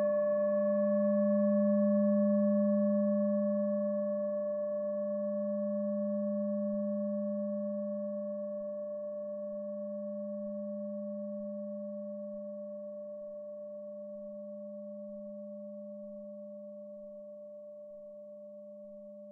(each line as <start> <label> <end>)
0.0 Himalayan Singing Bowl 19.3